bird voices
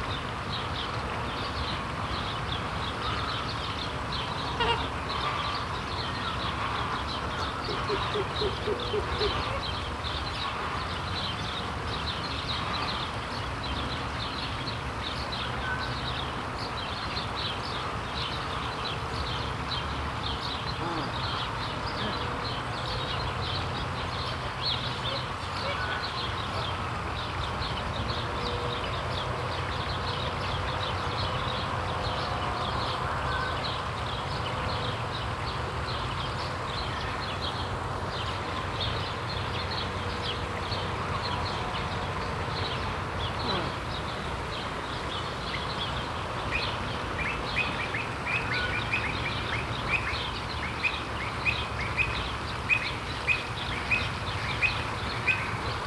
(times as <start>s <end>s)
20.6s 22.7s, 43.2s 44.2s